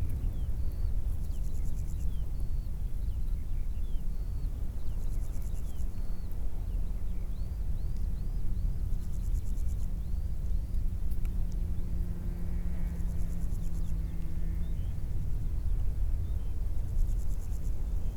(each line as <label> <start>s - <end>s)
large plane up high 10.5s - 18.1s